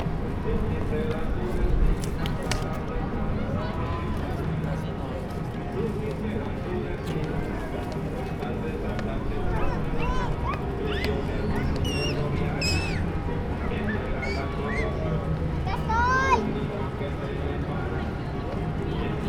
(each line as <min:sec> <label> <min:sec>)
0:00.0 background traffic sounds 0:19.2
0:00.0 movement and chatter of people 0:19.2
0:09.6 kids playing 0:16.6